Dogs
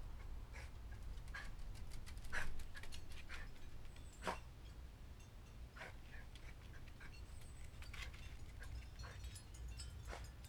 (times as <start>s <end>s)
5.8s 9.4s